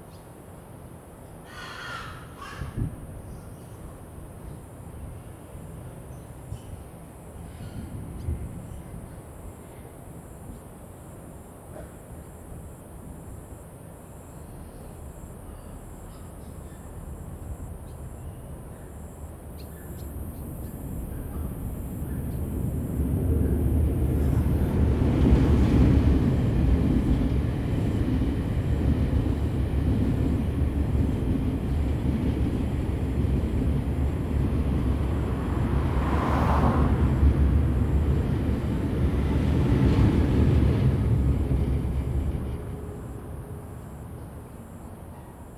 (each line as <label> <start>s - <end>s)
Train traveling through 4.3s - 45.5s
Traffic Sound 16.8s - 44.9s